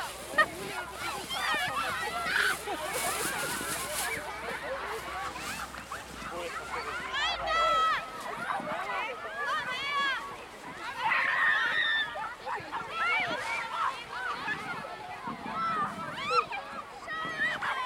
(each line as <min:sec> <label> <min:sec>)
0:00.0 children sledding and sliding down sacks 0:17.8